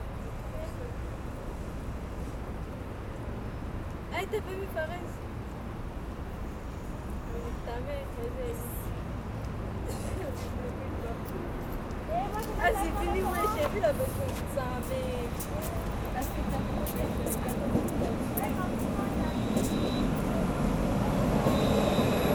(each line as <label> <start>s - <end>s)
people is going inside 0.0s - 22.3s
train leaves 13.3s - 22.3s
train is arriving 13.3s - 22.3s